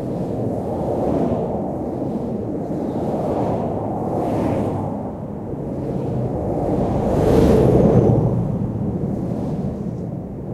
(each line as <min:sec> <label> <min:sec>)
0:03.2 cars rushing by 0:10.2